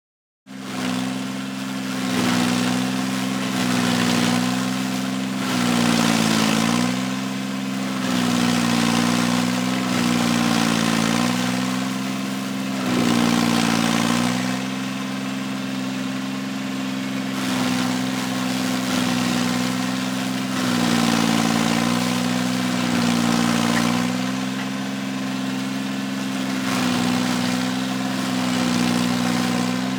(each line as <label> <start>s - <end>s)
Diesel stump grinder in action 0.5s - 29.9s